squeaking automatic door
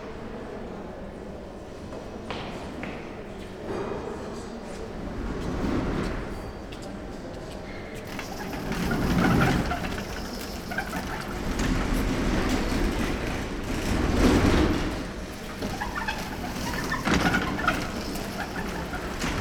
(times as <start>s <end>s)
7.8s 19.4s